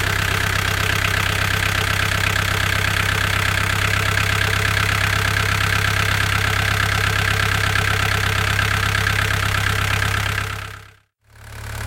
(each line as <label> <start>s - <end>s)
diesel 0.0s - 11.8s